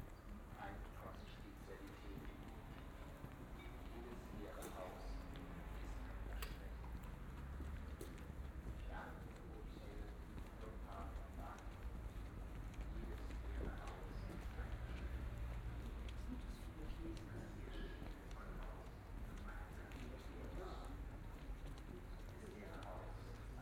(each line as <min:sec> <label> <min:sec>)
0:00.0 walk down the street 0:23.6